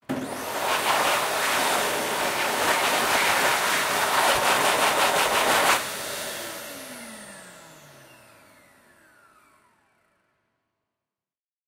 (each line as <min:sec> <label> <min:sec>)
0:00.1 Hand Dryer 9 (hand movement) 0:05.8